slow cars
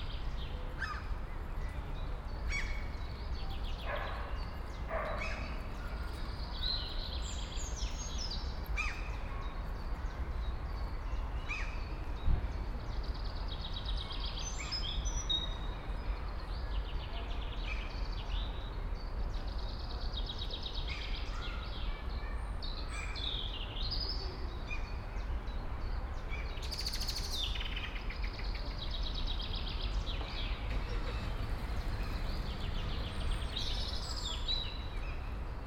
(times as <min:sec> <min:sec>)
0:29.4 0:35.6